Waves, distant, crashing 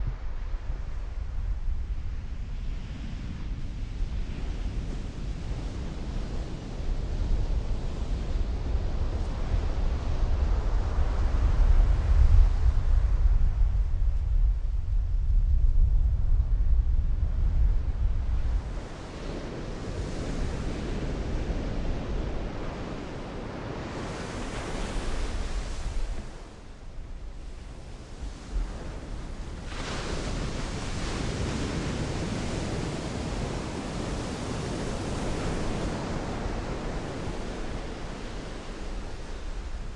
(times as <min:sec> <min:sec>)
0:18.6 0:39.9